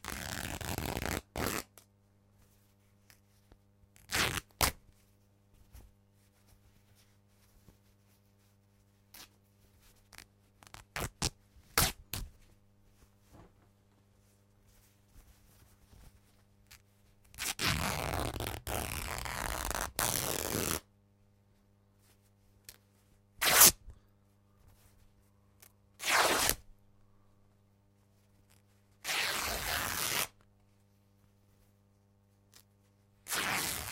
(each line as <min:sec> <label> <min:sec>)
0:00.0 Tearing Corduroy Shirt 0:01.7
0:04.0 Tearing Corduroy Shirt 0:04.8
0:10.1 Tearing Corduroy Shirt 0:12.3
0:16.7 Tearing Corduroy Shirt 0:20.8
0:23.4 Tearing Corduroy Shirt 0:23.8
0:26.0 Tearing Corduroy Shirt 0:26.6
0:29.0 Tearing Corduroy Shirt 0:30.4
0:33.2 Tearing Corduroy Shirt 0:33.9